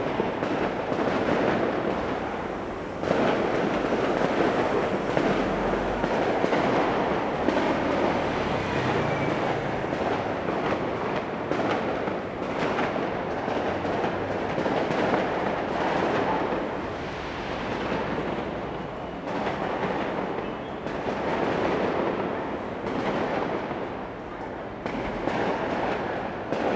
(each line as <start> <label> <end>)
0.0 firecrackers 26.7
0.0 fireworks 26.7